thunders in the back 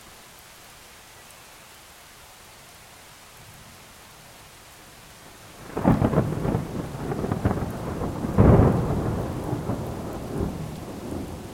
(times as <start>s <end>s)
5.6s 11.5s